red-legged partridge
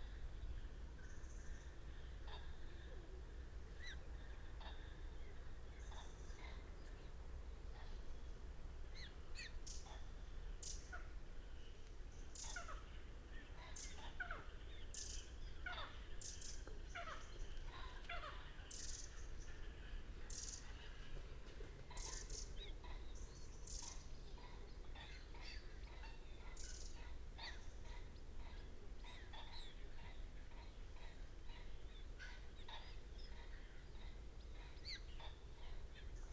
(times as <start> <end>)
12.3 36.3